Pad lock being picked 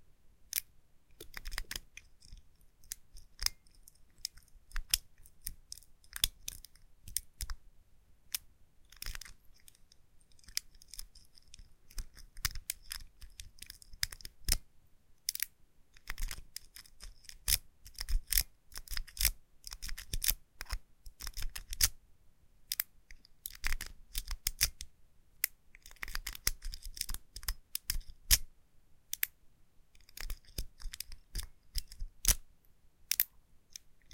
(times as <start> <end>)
1.2 7.6, 8.3 14.6, 15.3 21.9, 23.5 24.8, 25.8 28.5, 30.0 32.4, 33.1 33.3